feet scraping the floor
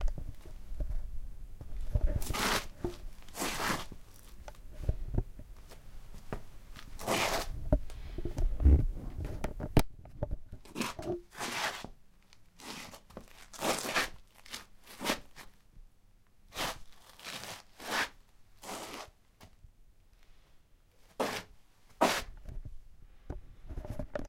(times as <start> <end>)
1.9 4.0, 6.2 7.6, 21.2 22.3